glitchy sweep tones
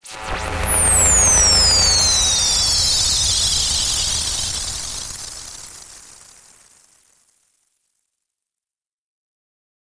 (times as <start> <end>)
0.0 6.2